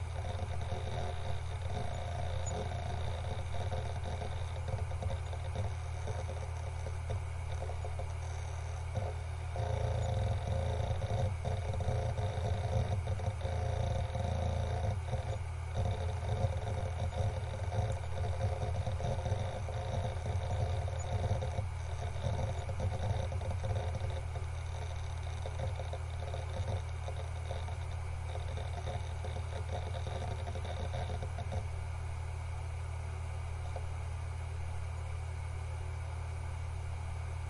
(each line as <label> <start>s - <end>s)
hard drive reading/writing 0.0s - 36.7s